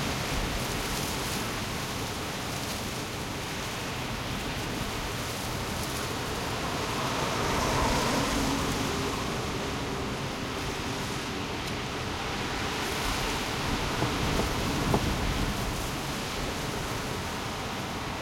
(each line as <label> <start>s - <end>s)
Heavy wind recorded from the interior of a car 0.0s - 18.2s